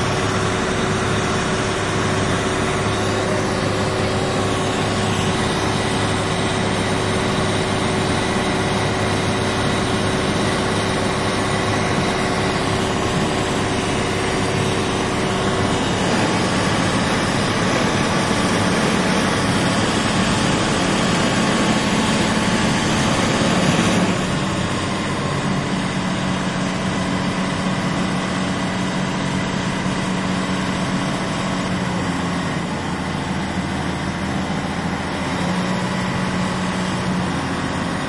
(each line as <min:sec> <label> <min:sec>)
0:00.0 Motor of a Ship 0:38.0